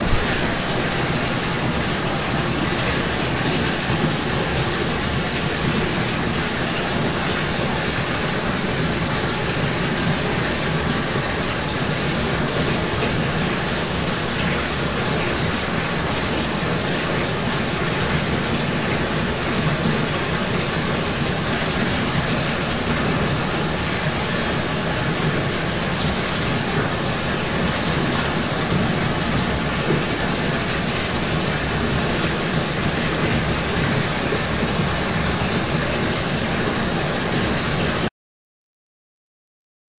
0.0s Rushing water 38.1s

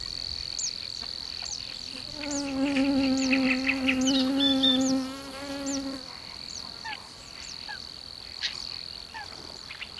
0.0s birds in background 9.9s
0.0s cricket 9.9s
1.8s single mosquito buzzing 6.1s

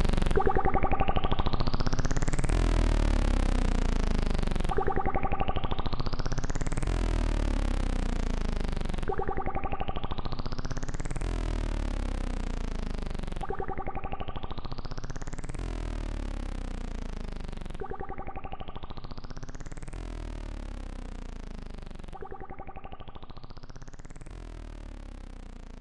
0.0s analog synthesizer 25.8s

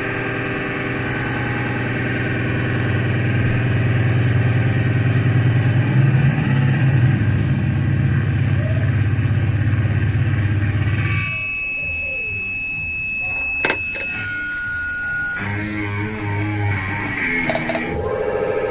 10.4s feedback 18.7s

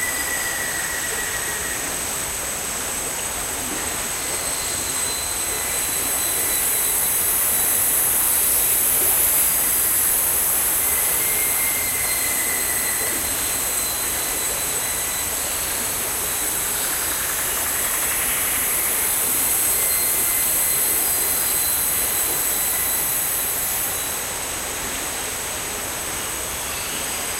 0.0s creek 27.3s
0.0s insects 27.3s

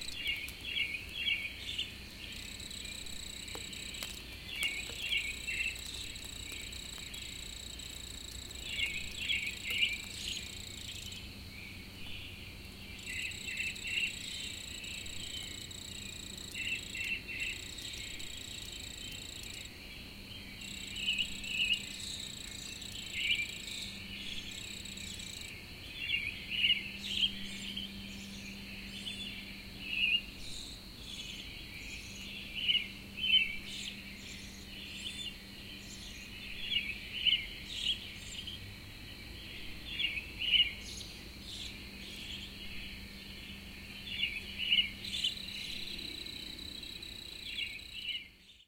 0.0s his wings stridulating 11.4s
0.0s Spring birds 25.5s
12.8s his wings stridulating 19.8s
20.6s his wings stridulating 25.5s

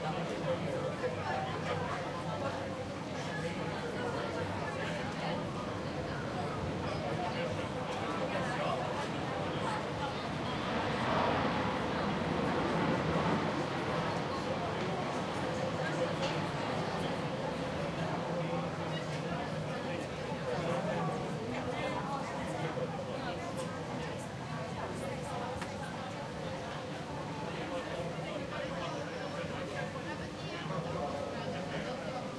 0.0s crowded café 32.3s

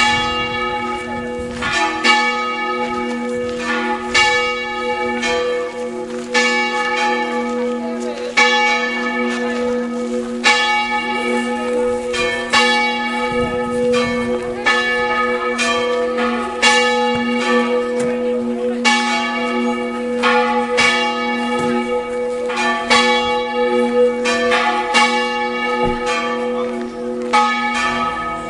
0.0s Church bells 28.4s

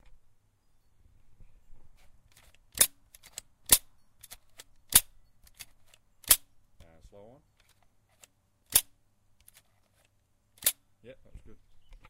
2.4s nailgun firing without nails 6.5s
8.7s nailgun firing without nails 9.6s
10.6s nailgun firing without nails 10.8s

